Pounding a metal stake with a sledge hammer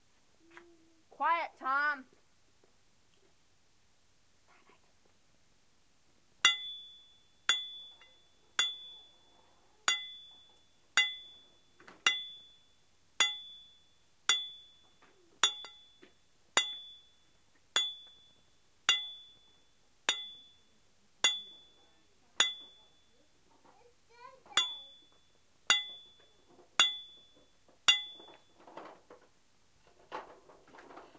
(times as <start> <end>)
6.4 9.0, 9.9 12.6, 13.2 20.6, 21.2 21.8, 22.4 23.0, 24.5 28.7